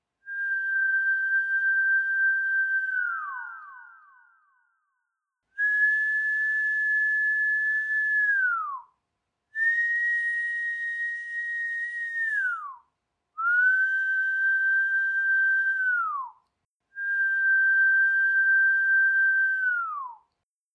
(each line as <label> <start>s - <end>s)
Sustained whistling 0.3s - 4.6s
Sustained whistling 9.6s - 12.8s
Sustained whistling 13.4s - 16.4s
Sustained whistling 17.0s - 20.2s